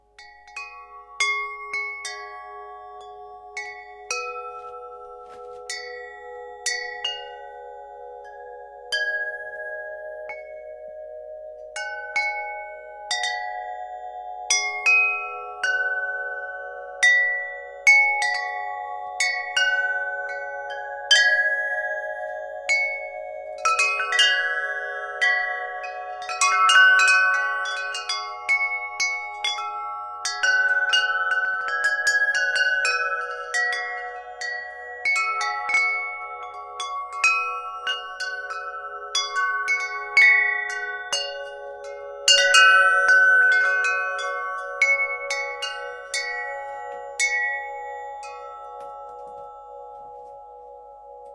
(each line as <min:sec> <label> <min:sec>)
0:00.0 tubular bells chime 0:51.3